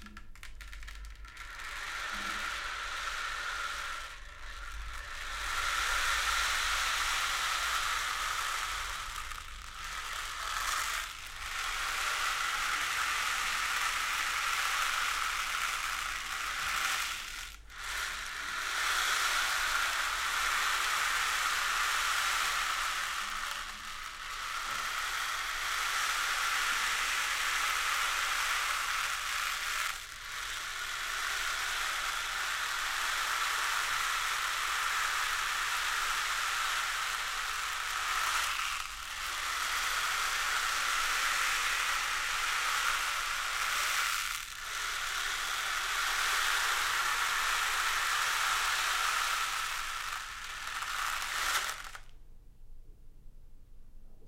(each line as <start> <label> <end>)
0.0 rain stick 52.1